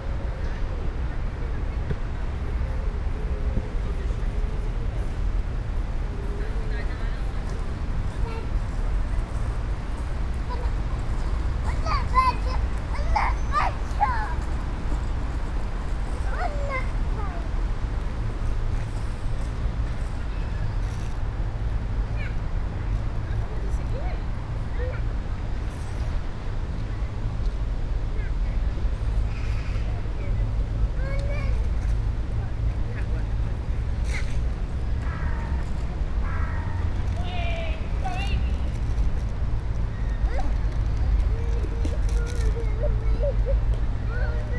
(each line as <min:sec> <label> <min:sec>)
0:00.0 young children exploring the park 0:44.5
0:06.1 chat of workers 0:17.8
0:22.0 chat of workers 0:44.5